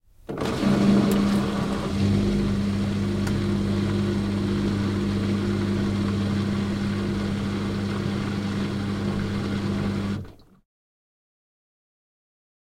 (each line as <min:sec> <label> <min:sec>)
0:00.3 Washing machine 0:10.6